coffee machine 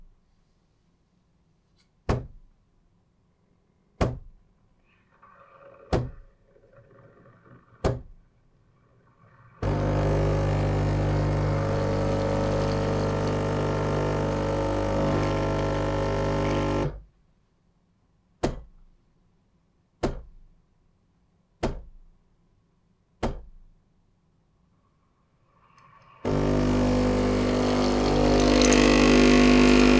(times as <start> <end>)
9.4 17.0, 25.6 29.9